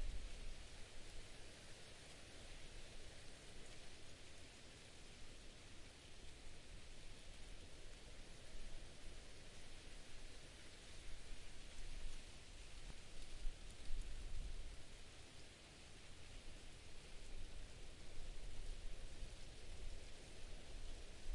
0.0s Wind in a small clump of broad-leaf trees 21.3s

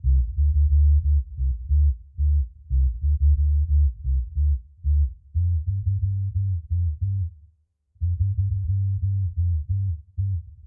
0.0s Bass 10.6s

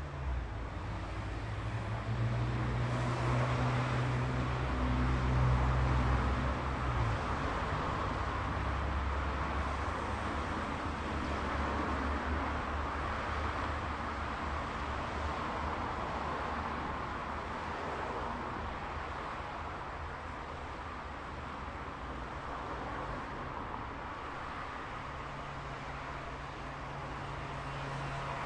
0.0s other traffic 28.4s

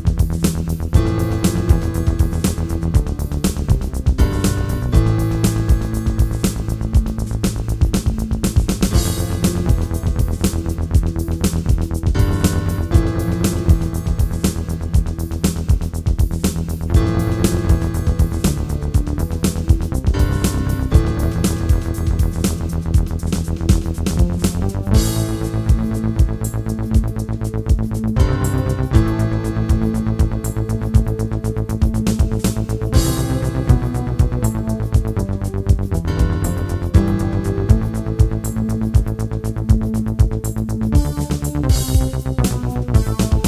0.0s Yamaha keyboard 43.4s

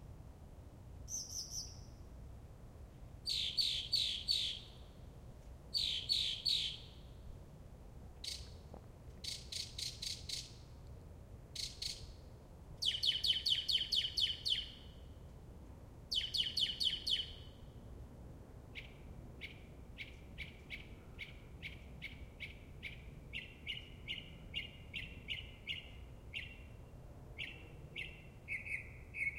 3.3s mockingbird singing 4.6s
5.8s mockingbird singing 6.9s
12.8s mockingbird singing 14.7s

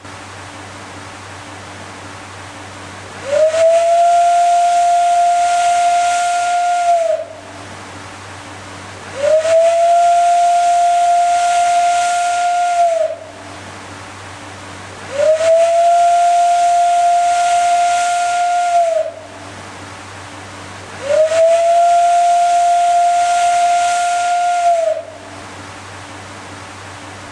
0.0s escaping steam sound from a vent 27.3s
3.2s Steam Whistle 7.6s
9.1s Steam Whistle 13.5s
15.0s Steam Whistle 19.4s
20.9s Steam Whistle 25.4s

